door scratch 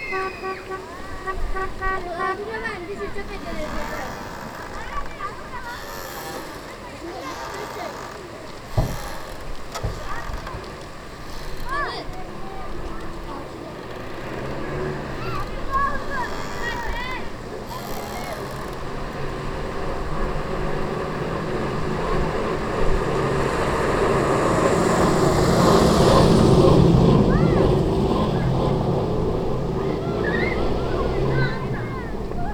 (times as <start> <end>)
0.0 12.2, 13.9 19.0